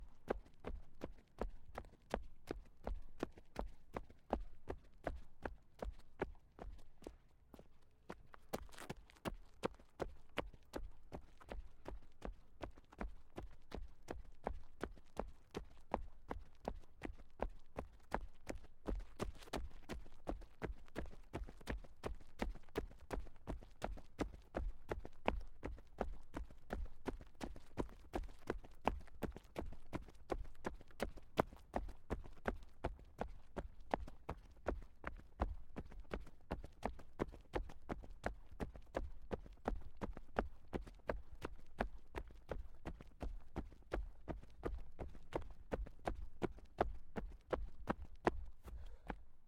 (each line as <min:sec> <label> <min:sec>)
0:00.0 flat sneakers jogging on concrete 0:49.4